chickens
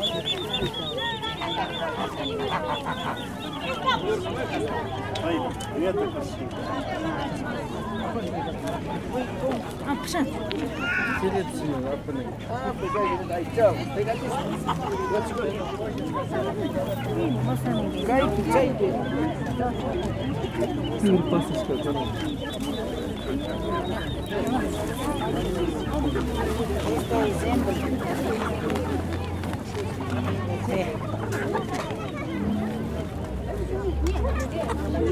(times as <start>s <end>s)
0.0s 8.2s